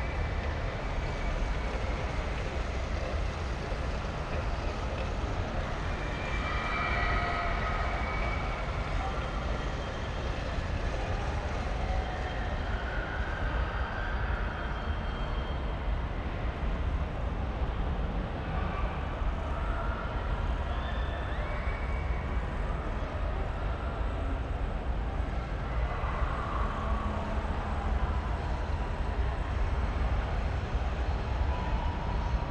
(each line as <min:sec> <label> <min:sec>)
0:00.0 echos of the christmas fun fair 0:32.5